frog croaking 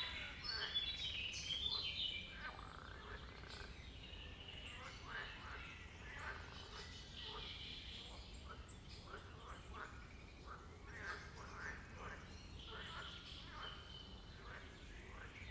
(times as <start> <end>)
2.4 3.8